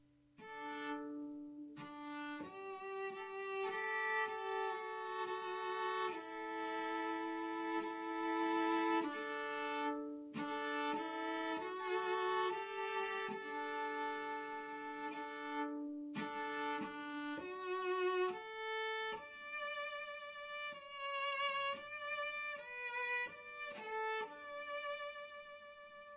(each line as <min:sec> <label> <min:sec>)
0:00.4 cello playing high notes up on the finger board 0:21.0